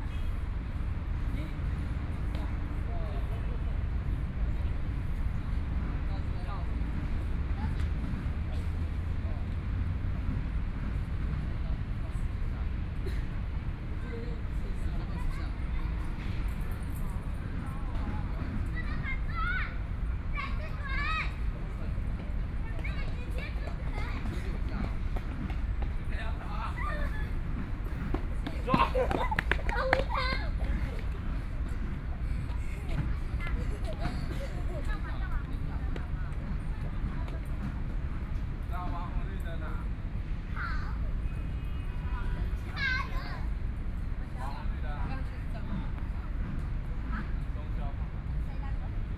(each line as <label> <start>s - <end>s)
Traffic Sound 0.0s - 49.1s